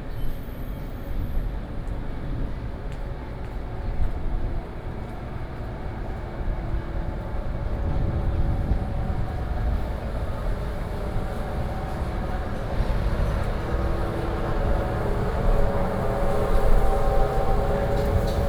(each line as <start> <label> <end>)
0.0 walking in Small alley 18.4
4.5 Traffic Sound 18.4